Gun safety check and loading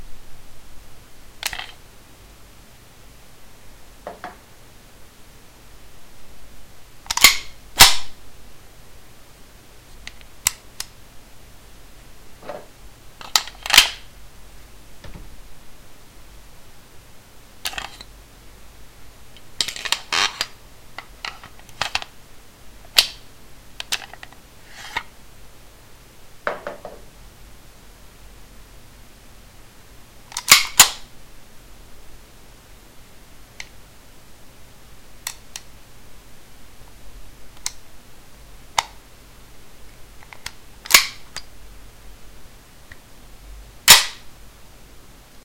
1.4s 1.8s, 7.1s 8.1s, 13.2s 14.0s, 30.3s 31.0s, 40.2s 41.5s, 43.9s 44.2s

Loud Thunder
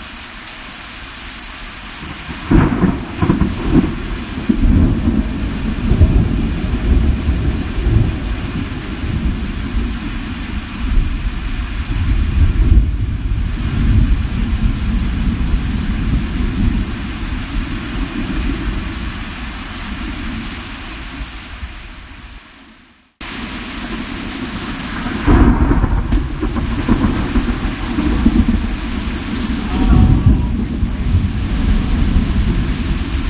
2.0s 10.0s, 11.9s 19.0s, 24.6s 33.2s

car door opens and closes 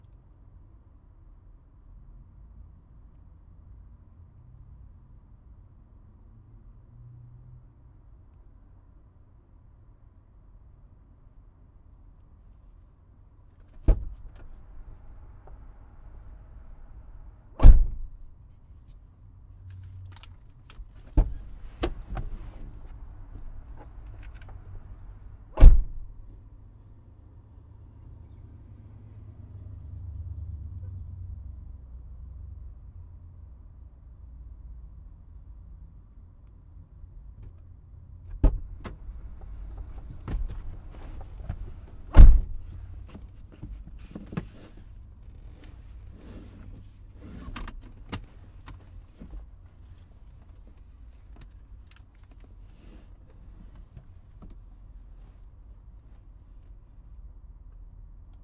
13.6s 14.6s, 17.6s 18.4s, 19.8s 24.7s, 25.5s 26.4s, 38.3s 54.6s

